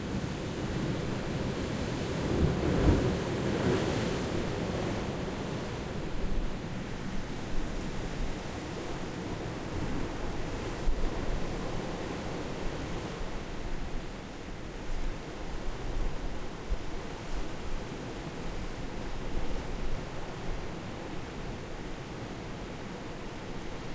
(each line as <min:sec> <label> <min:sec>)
0:00.0 waves 0:23.9